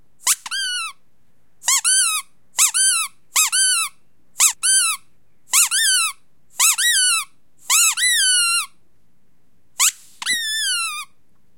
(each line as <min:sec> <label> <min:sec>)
0:00.2 rubber squeaky toy being squeezed 0:01.0
0:01.6 rubber squeaky toy being squeezed 0:08.8
0:09.8 rubber squeaky toy being squeezed 0:11.2